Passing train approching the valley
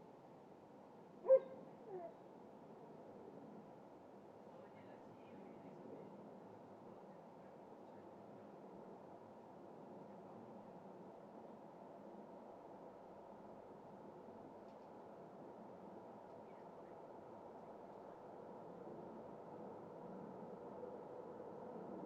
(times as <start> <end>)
15.2 22.0